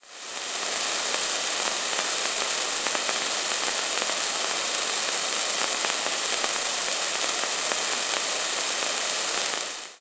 Rainfall 0.0 - 9.9

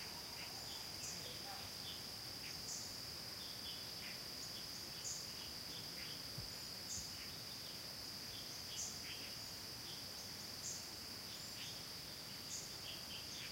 constant insect 0.0 - 13.5
few birds 0.0 - 13.5

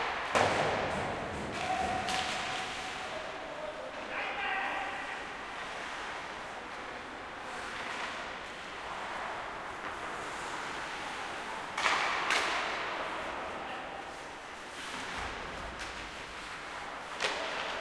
skating 0.0 - 17.8
stick 0.0 - 3.1
stick 17.1 - 17.8

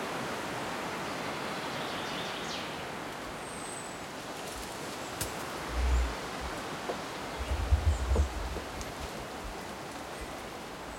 birds in the background 1.0 - 4.2
birds in the background 5.0 - 8.8

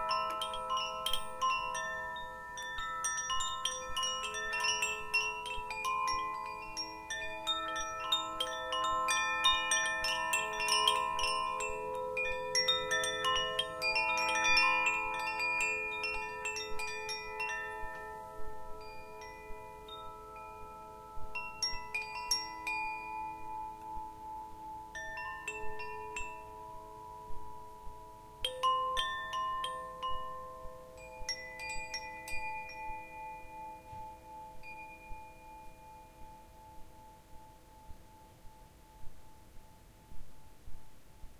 Melodic wind chimes 0.0 - 41.3

